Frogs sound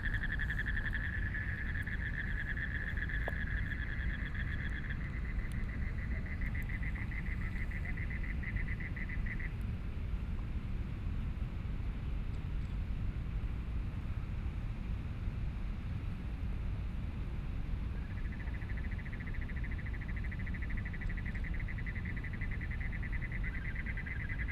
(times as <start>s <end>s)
0.0s 9.6s, 17.9s 24.5s